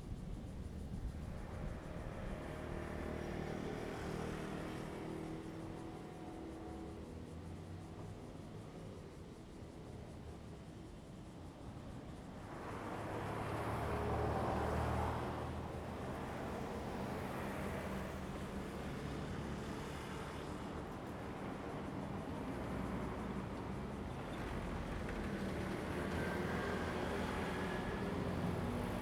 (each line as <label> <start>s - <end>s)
Traffic Sound 12.5s - 29.0s